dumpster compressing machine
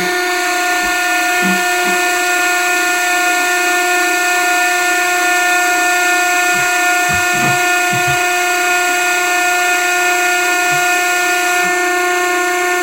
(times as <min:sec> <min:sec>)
0:06.4 0:08.4